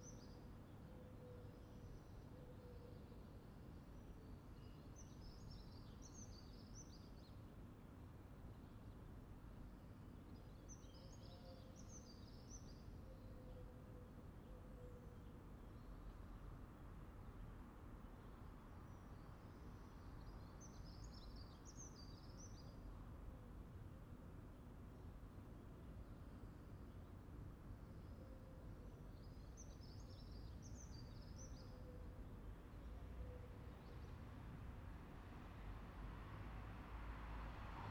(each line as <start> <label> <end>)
29.9 small traffic 37.9